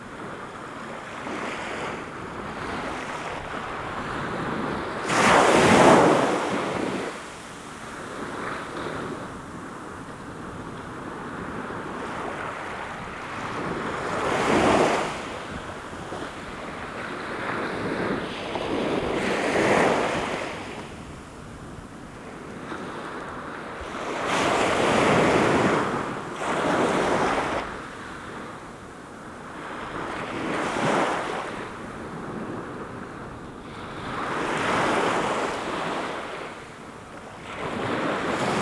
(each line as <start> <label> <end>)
0.1 waves washing upon the shore 38.6